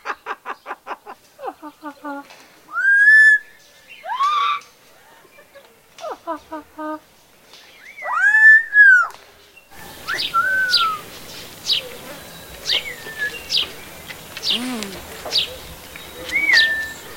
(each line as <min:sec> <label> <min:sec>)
0:00.0 birds 0:17.1
0:09.7 animal noises 0:17.1